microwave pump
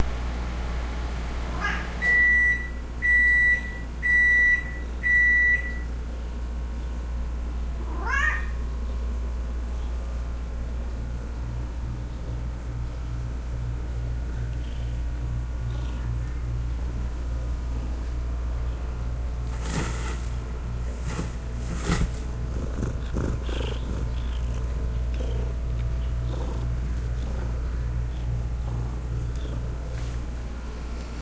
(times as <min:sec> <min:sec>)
0:19.2 0:31.2